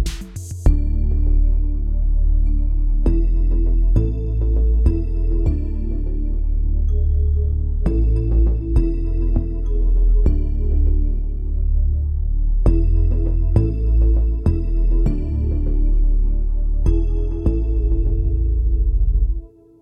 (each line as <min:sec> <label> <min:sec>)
0:00.0 beat 0:01.4